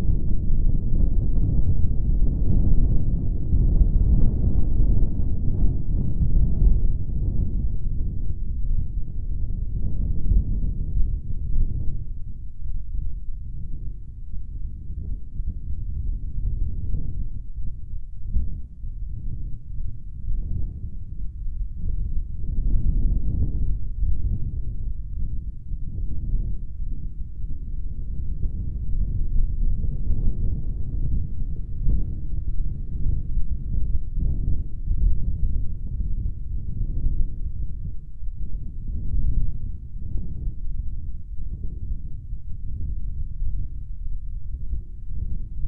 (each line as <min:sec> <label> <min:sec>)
0:00.0 light breeze 0:45.6